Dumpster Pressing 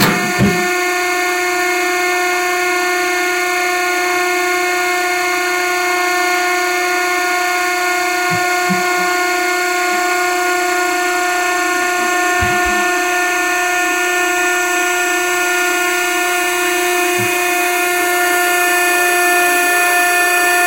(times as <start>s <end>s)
0.0s 0.9s, 8.2s 13.8s